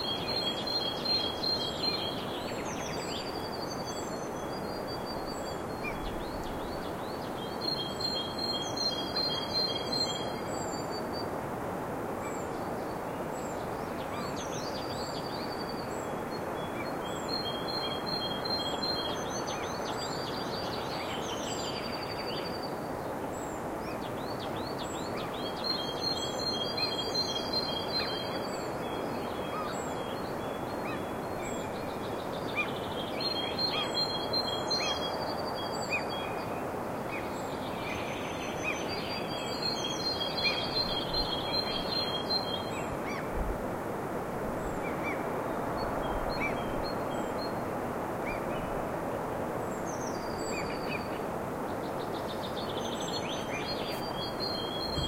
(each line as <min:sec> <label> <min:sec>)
0:00.0 waterfall 0:55.0
0:23.5 brids chirping in the forrest 0:43.3
0:49.8 brids chirping in the forrest 0:55.0